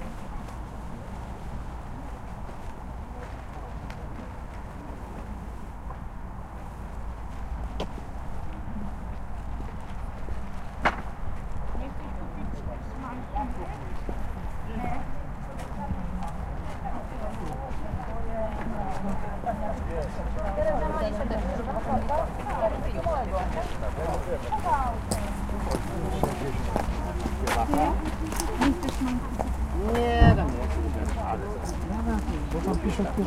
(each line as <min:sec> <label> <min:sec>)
0:11.4 people's voices 0:33.2